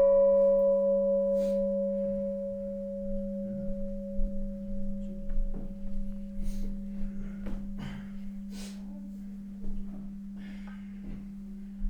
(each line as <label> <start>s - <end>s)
small bell 0.0s - 8.5s